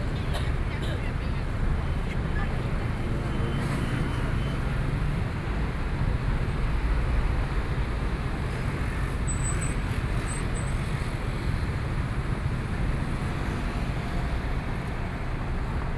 Traffic Sound 0:00.0 - 0:15.9

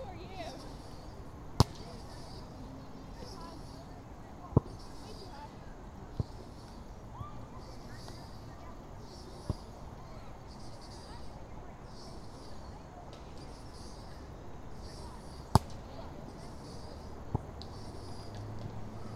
kids on the playground swing set 0:00.0 - 0:19.1
older children kicking around a soccer ball 0:00.0 - 0:19.1
people were out walking 0:00.0 - 0:19.1

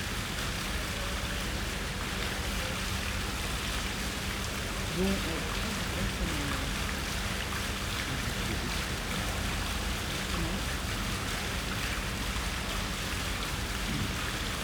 fountain 0:00.0 - 0:14.6
people chatting on benches 0:02.1 - 0:13.0
cars pass 0:05.2 - 0:11.8

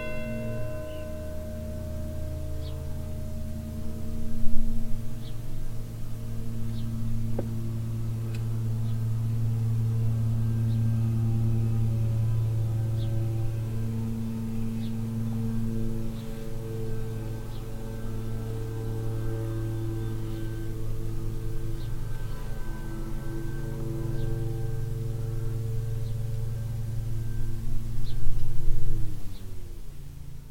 bells 0:00.0 - 0:29.8
sonorous sound of a lawnmower 0:00.0 - 0:30.5

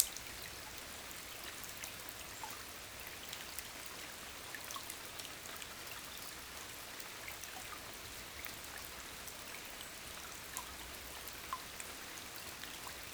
long and sad rain 0:00.0 - 0:01.9
river is flowing quietly 0:00.0 - 0:13.1

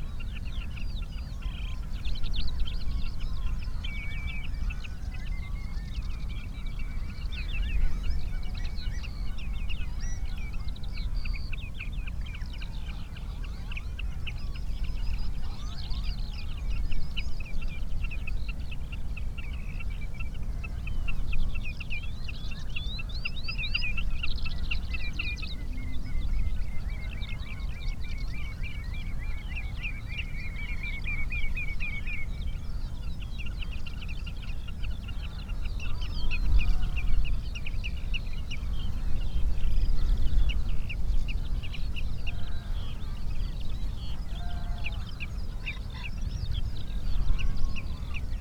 pheasant 0:00.0 - 0:48.4

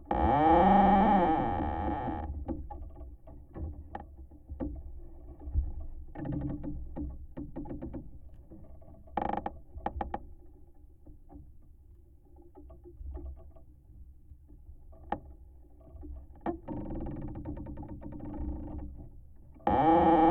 moaning tree 0:00.1 - 0:02.2
moaning tree 0:19.7 - 0:20.3

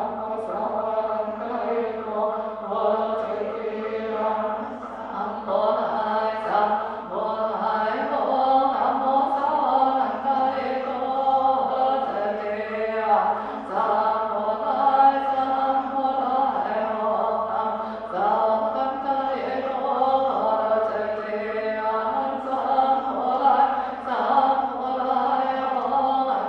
Singing 0:00.0 - 0:26.4

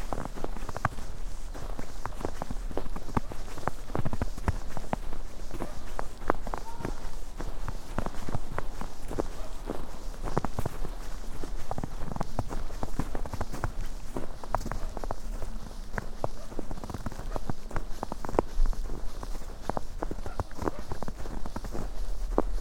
sounds of winter clothes 0:00.0 - 0:22.6
steps 0:00.0 - 0:22.6

